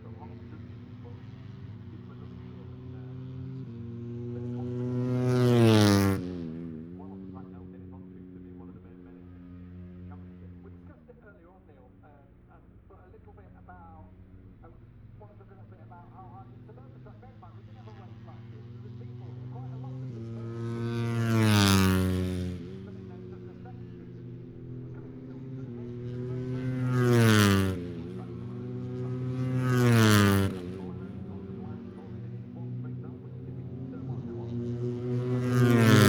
motorcycle grand prix 0:00.0 - 0:36.0

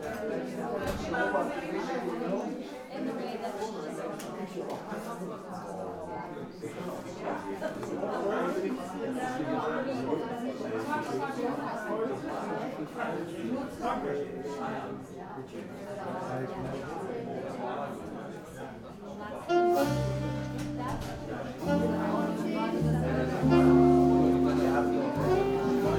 cooljazz concert 0:19.4 - 0:25.9

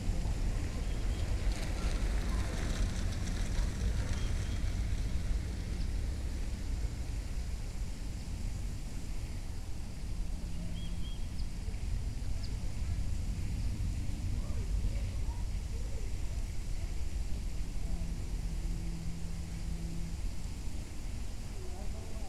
train came by 0:00.0 - 0:22.2
sparse birdsong 0:10.5 - 0:11.8

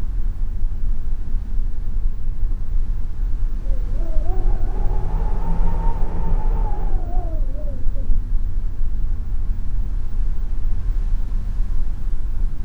air blowing under my cabin door 0:03.5 - 0:08.2

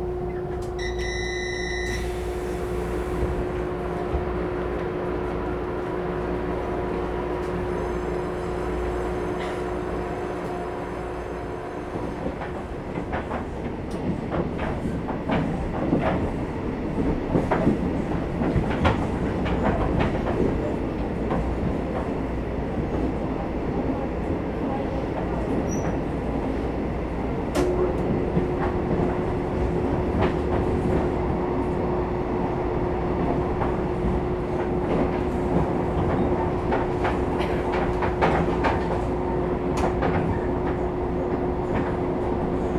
Train broadcast message 0:00.0 - 0:02.5
Train crossing 0:00.0 - 0:42.7
Trains traveling 0:00.0 - 0:42.7

